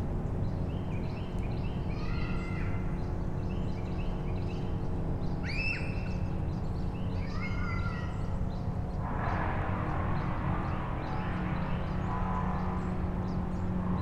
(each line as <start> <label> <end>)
0.0 noises from the nearby houses 14.0
0.2 Birds 9.4
6.3 traffic 14.0
10.2 Birds 14.0